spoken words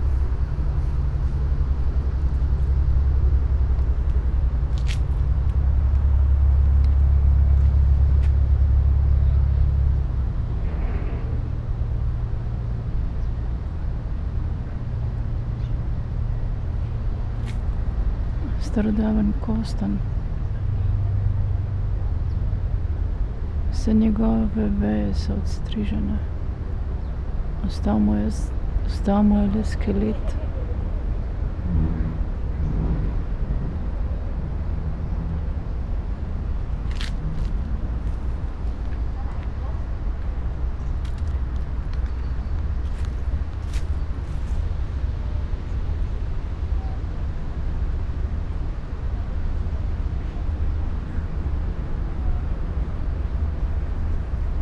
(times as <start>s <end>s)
18.4s 20.0s, 23.7s 26.3s, 27.6s 30.5s